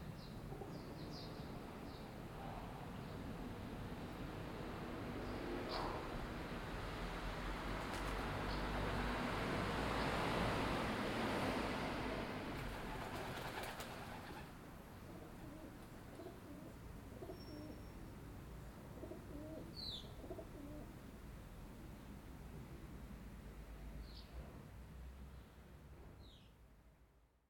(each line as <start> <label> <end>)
12.6 pigeons 14.5
15.1 pigeons 17.8
17.2 sparrows 18.1
19.0 pigeons 20.8
19.7 sparrows 20.2